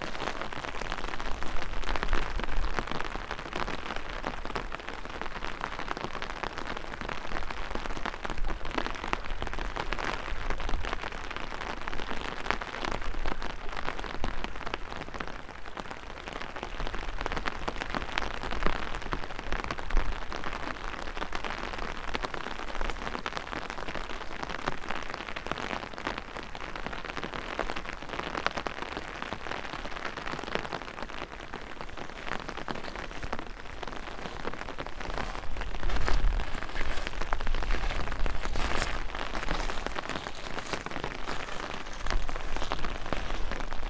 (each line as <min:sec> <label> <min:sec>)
0:00.0 umbrella 0:03.8
0:00.0 walking, excavated gravel 0:04.8
0:00.0 rain drops 0:43.8
0:29.8 flow of river water 0:43.8
0:30.0 umbrella 0:43.8
0:31.0 walking, excavated gravel 0:43.8